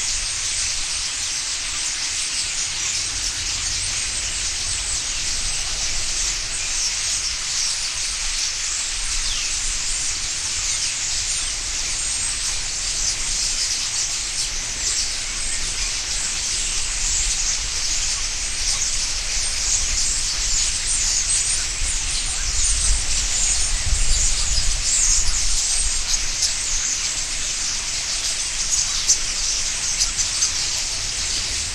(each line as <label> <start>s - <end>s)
Birds taking of 0.0s - 31.7s